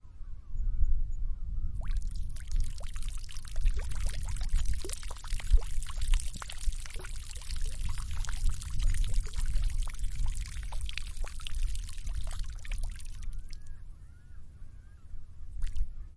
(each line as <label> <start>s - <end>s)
peeing in a puddle 1.8s - 13.6s
peeing in a puddle 15.6s - 15.9s